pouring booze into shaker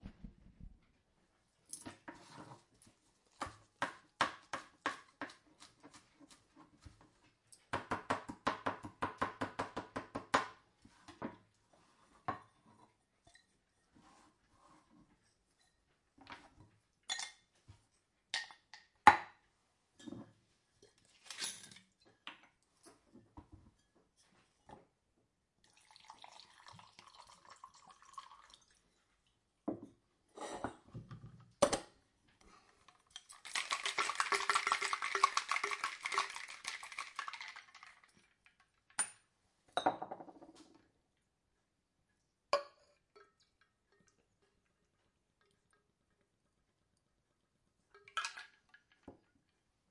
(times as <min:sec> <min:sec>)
0:25.6 0:28.8, 0:32.9 0:38.6